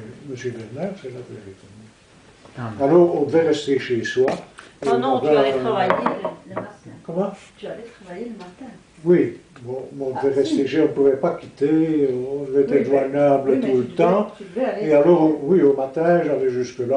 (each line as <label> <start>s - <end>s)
old worker testimony 2.4s - 15.9s